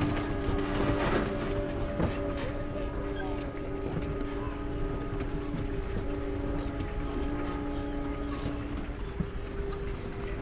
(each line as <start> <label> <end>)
0.0 sound performance for 16 instruments on pedal boats 10.4